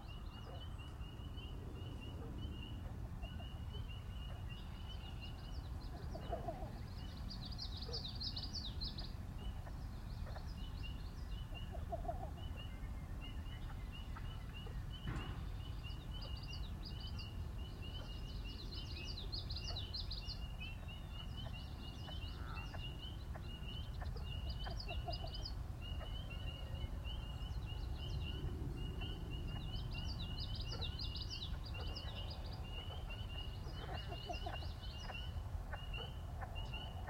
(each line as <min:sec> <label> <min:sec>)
0:00.0 birds 0:37.0
0:15.0 bridge pops 0:15.6
0:15.9 frogs sing 0:37.0